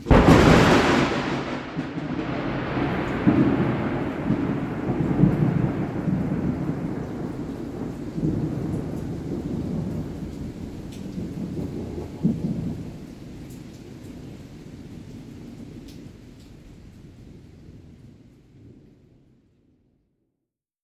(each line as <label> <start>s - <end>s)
loud thunder crash 0.0s - 12.9s
distant rain 0.0s - 19.0s